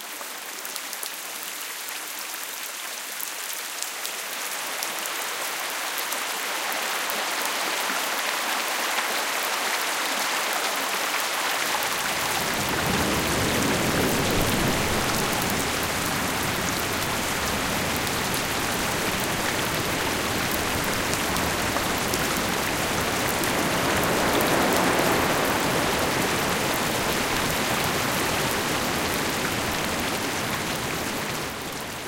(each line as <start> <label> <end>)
7.7 floating water stream 32.0